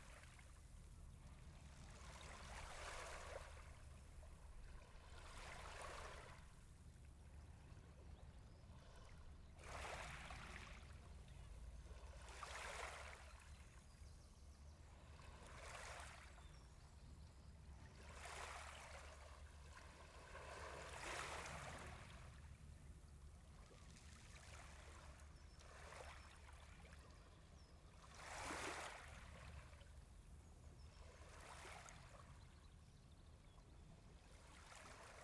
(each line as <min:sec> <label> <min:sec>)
0:00.0 Calm waves 0:35.2